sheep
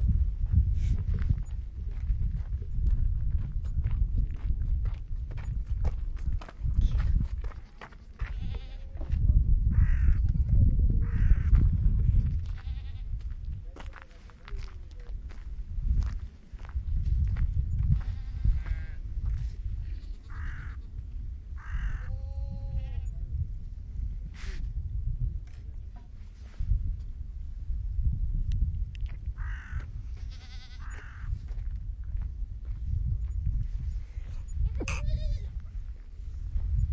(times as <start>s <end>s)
6.9s 9.2s